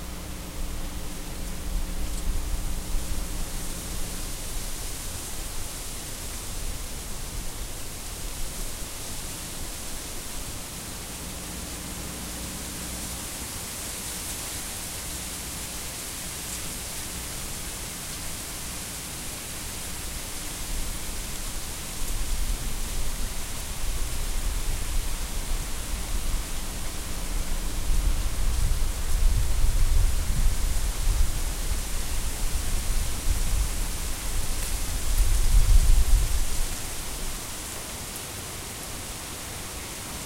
Gentle gusts of wind playing through a yew tree 0.0 - 40.2

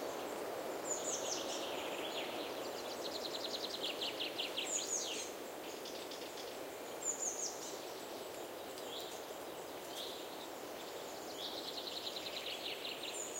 wind on trees 0.0 - 13.3

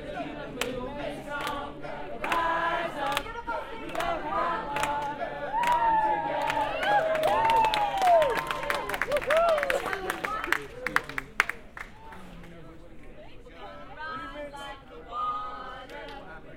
chant 0.0 - 9.1
chant 13.5 - 16.5

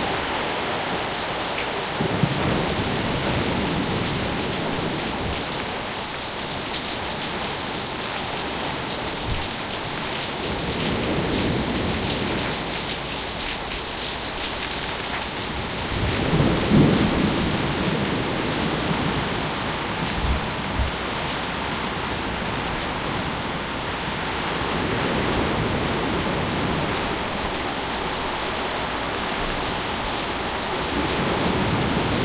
thunderclaps 0.0 - 6.1
Wind 0.0 - 32.2
waves 0.0 - 32.2
thunderclaps 14.8 - 23.6
creaking timbers 16.0 - 23.3

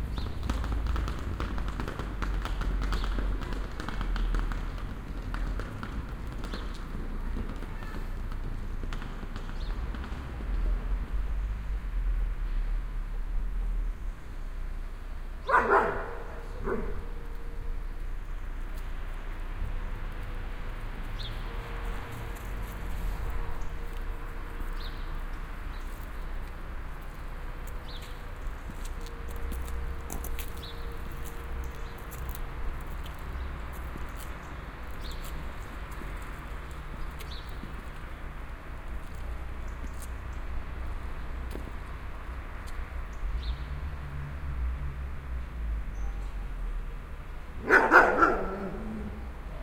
dogs 15.4 - 17.1
dogs 47.6 - 49.6

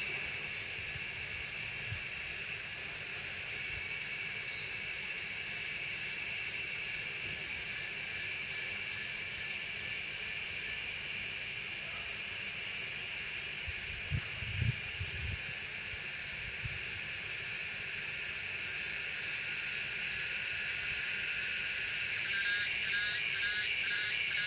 insects (that I believe are cicadas) chirp loudly 0.0 - 24.4

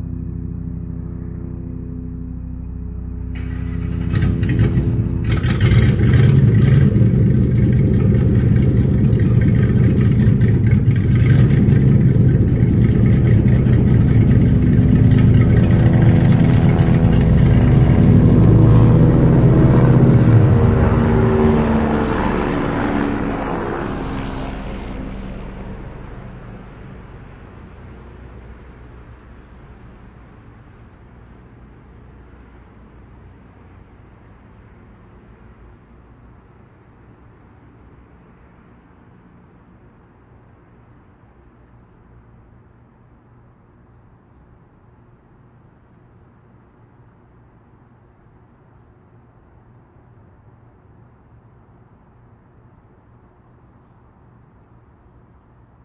revs the engine 0.0 - 26.7
car with a loud exhaust drives through my neighborhood 0.0 - 55.8

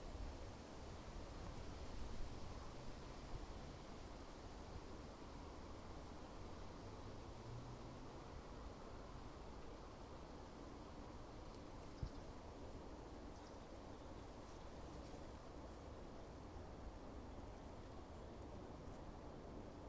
Wind 0.0 - 19.8

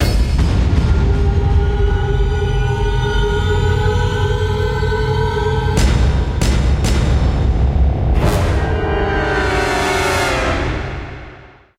drum 5.8 - 8.6
symphonic section 8.0 - 11.5

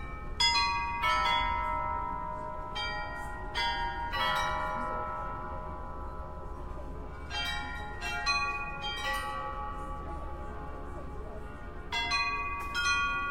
Astronomical Clock 0.0 - 6.4

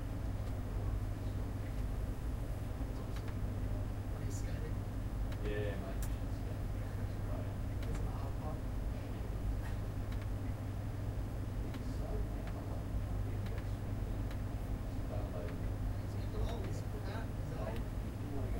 Fans 0.0 - 18.5
airconditioning 0.0 - 18.5
occasional mouse clicks 10.1 - 10.3
occasional mouse clicks 13.4 - 13.7

